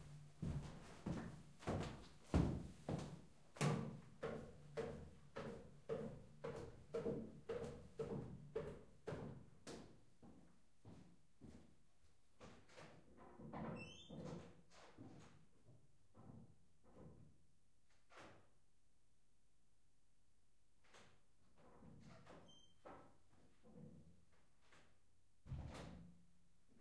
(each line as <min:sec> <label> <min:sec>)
0:00.4 steps on wooden floor 0:03.2